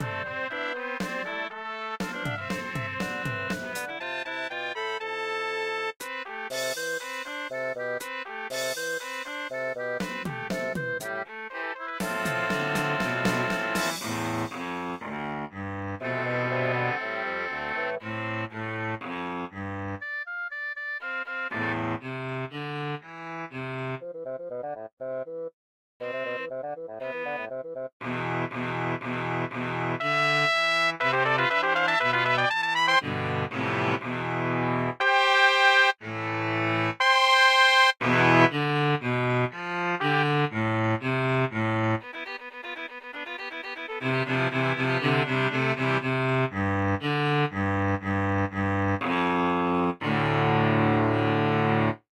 drums 0:00.0 - 0:04.0
Trumpet 0:00.0 - 0:04.8
Trumpet 0:05.4 - 0:23.6
drums 0:06.0 - 0:11.3
drums 0:12.0 - 0:15.0
Trumpet 0:26.0 - 0:47.6

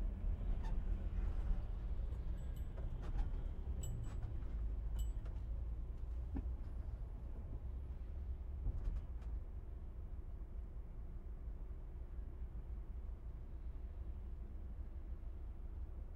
Tourist Bus Internal 0:00.0 - 0:16.1

